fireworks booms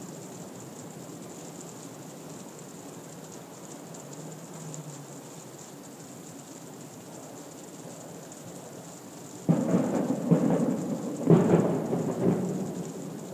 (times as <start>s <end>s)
9.5s 13.3s